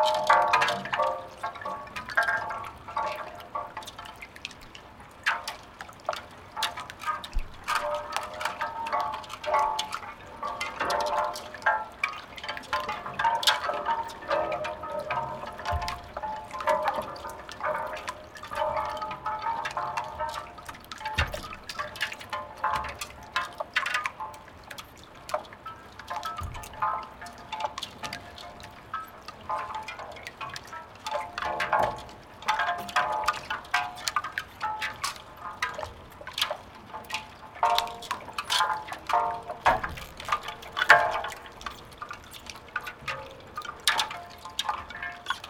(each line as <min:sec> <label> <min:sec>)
0:00.0 boats, twisting each others 0:45.4
0:39.7 Ice smelting 0:41.2